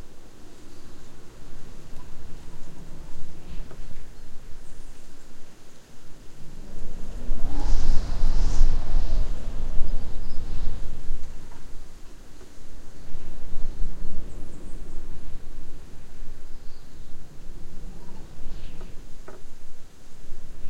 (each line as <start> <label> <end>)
0.0 Birds singing 5.8
0.0 wind blowing through house 20.6
15.9 Birds singing 19.4